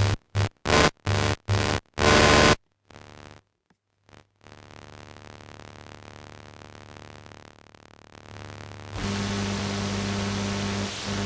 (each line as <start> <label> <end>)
0.0 Electromagnetic field 3.4
4.1 Electromagnetic field 11.2